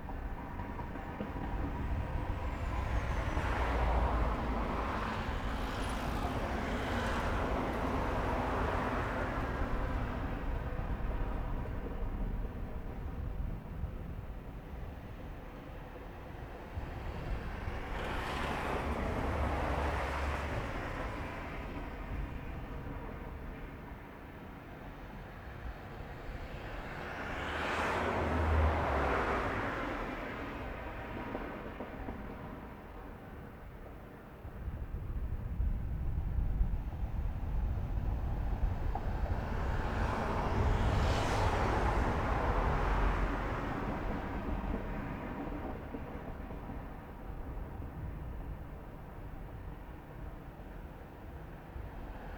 all sorts of cars 0:00.0 - 0:52.3

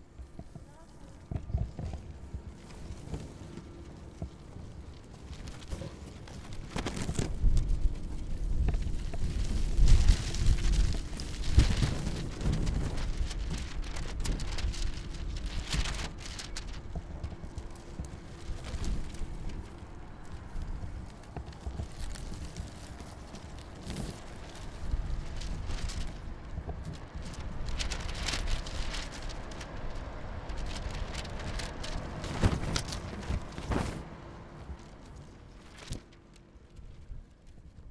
barreaux des grilles 0:00.0 - 0:37.9

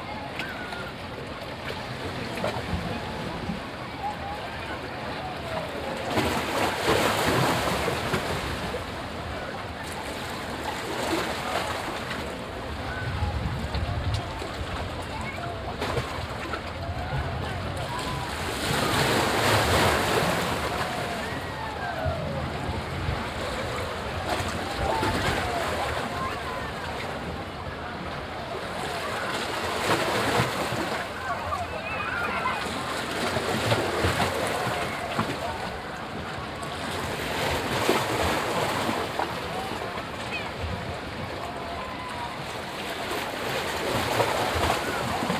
sea waves 0:00.0 - 0:45.3
visitors of the nearby beach 0:00.0 - 0:45.3
mellow windy 0:11.4 - 0:18.9

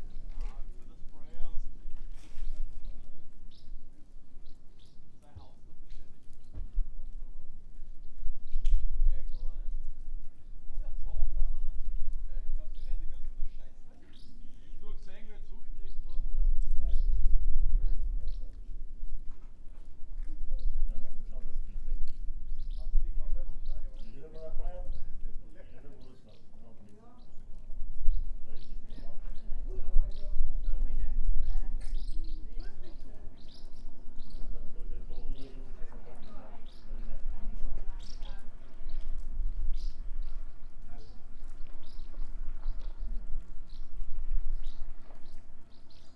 swallows are singing 0:02.2 - 0:03.8
swallows are singing 0:04.4 - 0:06.6
swallows are singing 0:09.2 - 0:09.7
swallows are singing 0:12.6 - 0:17.2
swallows are singing 0:17.8 - 0:18.6
swallows are singing 0:20.5 - 0:46.1

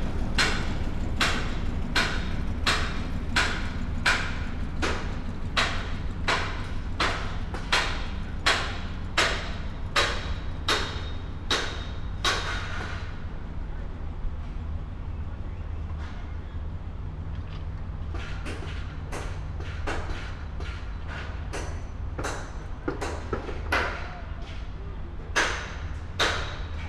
Construction sounds 0:00.0 - 0:26.8

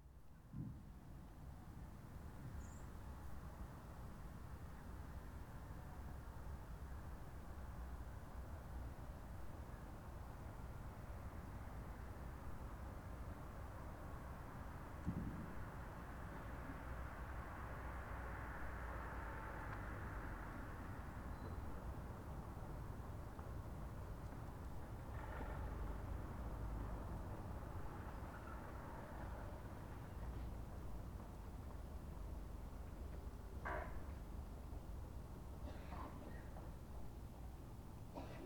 pedestrians 0:01.1 - 0:38.4
cars 0:14.3 - 0:36.7

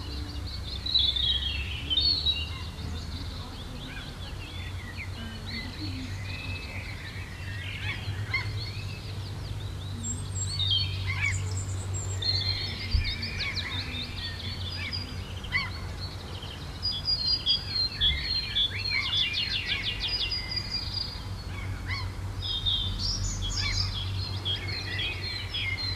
several bird sounds 0:00.0 - 0:25.9
seagulls 0:12.4 - 0:15.9
seagulls 0:21.5 - 0:22.2

